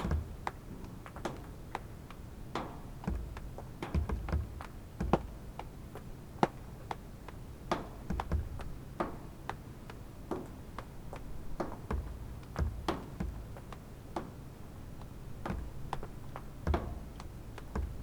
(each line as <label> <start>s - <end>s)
rainwater dripping from the roof on an awning and a table 0.0s - 18.0s